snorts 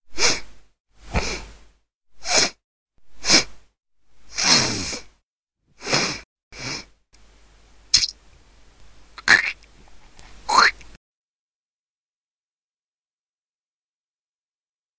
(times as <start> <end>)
4.3 5.1, 5.8 6.9